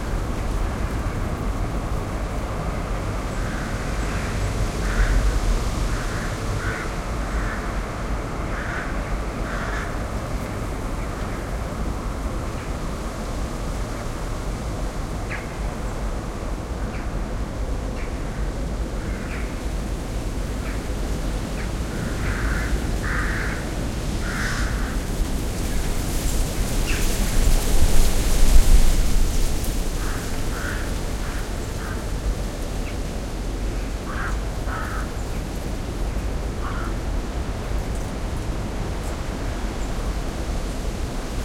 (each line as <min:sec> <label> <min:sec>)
0:00.0 wind 0:41.4
0:03.4 crows 0:07.7
0:08.5 crows 0:10.0
0:21.9 crows 0:25.1
0:30.0 crows 0:32.2
0:34.0 crows 0:35.2
0:36.6 crows 0:37.0